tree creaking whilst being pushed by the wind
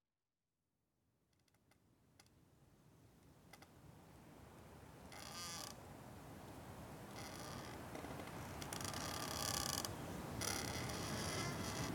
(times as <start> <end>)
1.3 2.4, 3.2 3.8, 5.0 11.9